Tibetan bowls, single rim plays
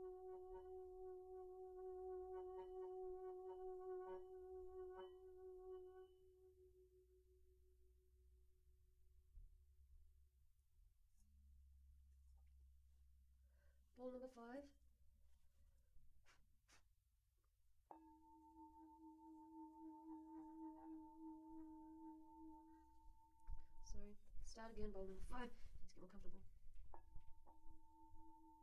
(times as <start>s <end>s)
17.9s 23.9s, 26.9s 28.6s